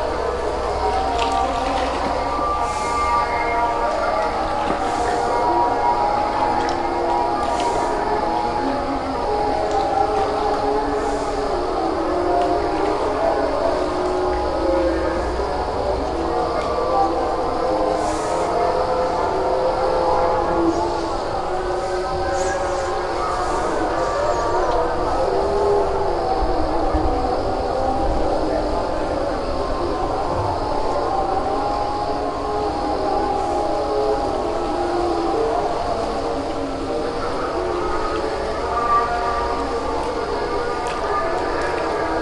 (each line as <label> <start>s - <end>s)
call to prayer 0.0s - 42.2s
insects 0.0s - 42.2s
water 0.0s - 42.2s